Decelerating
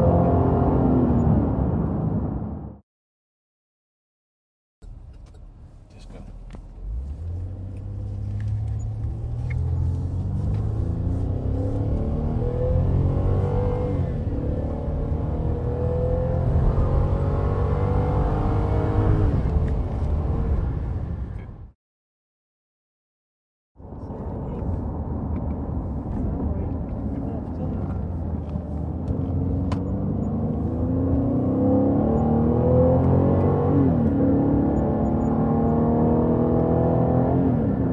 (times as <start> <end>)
4.8 21.5